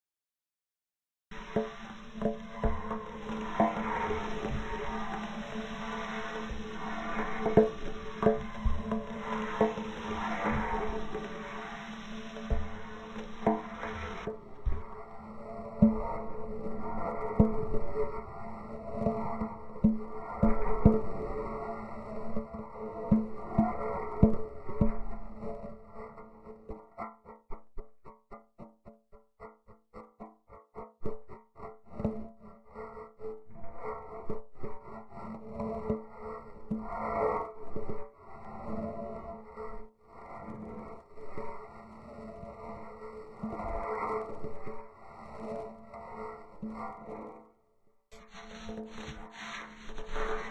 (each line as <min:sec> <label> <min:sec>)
0:01.4 vinyl transients going through a frame drum resonator 0:22.4
0:48.2 vinyl transients going through a frame drum resonator 0:50.5